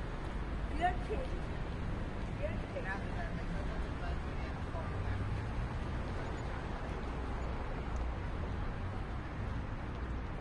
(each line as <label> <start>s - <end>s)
traffic 0.0s - 10.4s